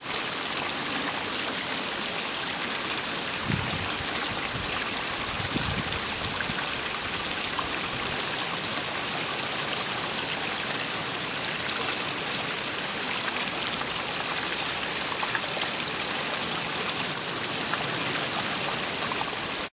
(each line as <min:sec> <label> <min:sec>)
0:00.0 fast flowing stream tumbling over stones 0:19.7